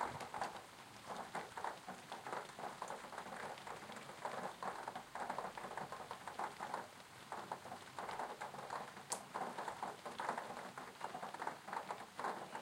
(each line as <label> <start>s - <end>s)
Rain 0.0s - 12.6s